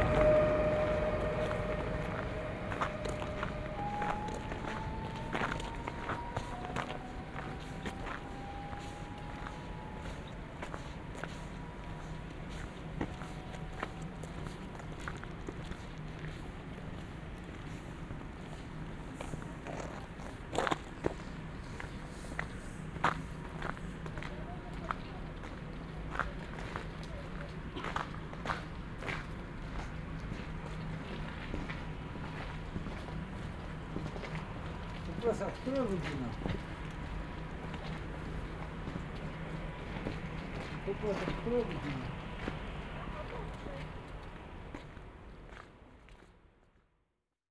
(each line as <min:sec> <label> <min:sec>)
0:00.0 Arriving to Leszczyny by train 0:46.9